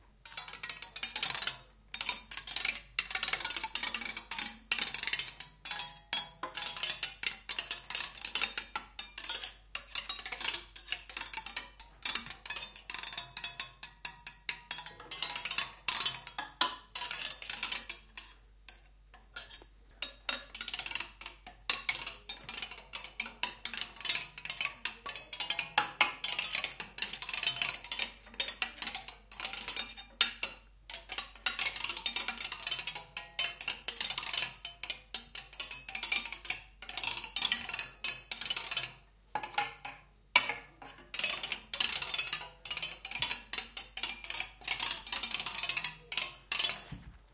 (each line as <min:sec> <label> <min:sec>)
0:00.2 hanging screw-clamps, randomly struck with a metal stick 0:47.0